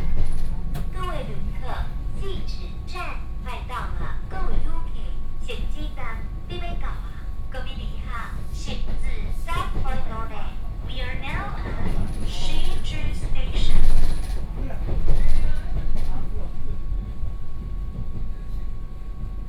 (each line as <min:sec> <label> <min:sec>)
0:00.0 On the train 0:19.4